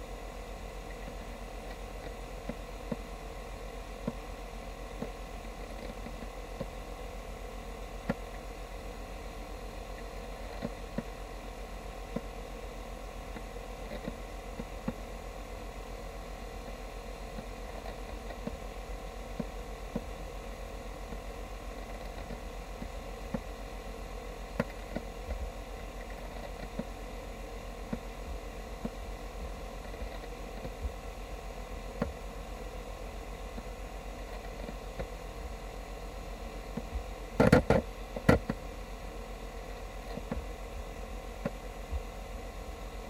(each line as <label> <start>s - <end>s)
USB SuperDrive working 0.0s - 43.0s